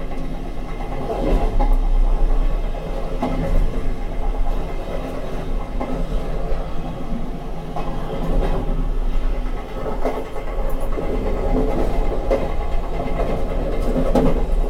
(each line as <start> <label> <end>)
0.0 on the train 14.6